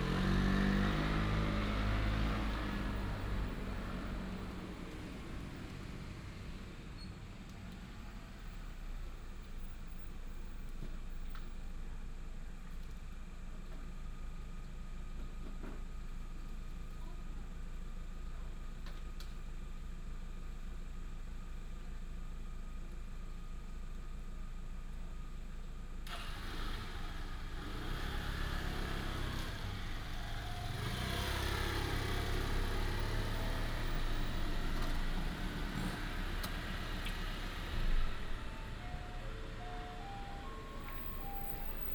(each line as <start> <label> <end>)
0.0 traffic sound 11.5
26.1 traffic sound 41.9